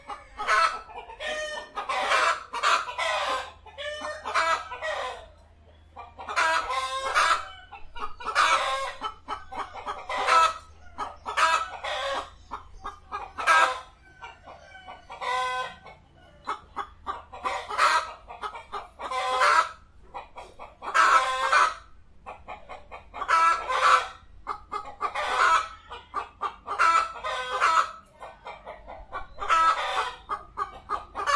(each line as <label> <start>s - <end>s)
chickens sing together 0.0s - 31.3s